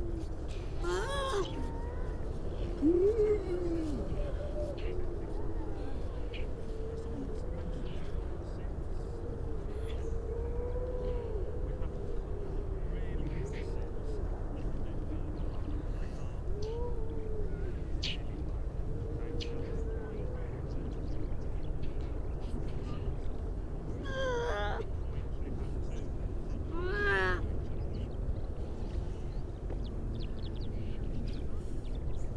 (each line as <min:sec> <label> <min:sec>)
0:00.0 grey seals 0:14.6
0:23.6 grey seals 0:24.9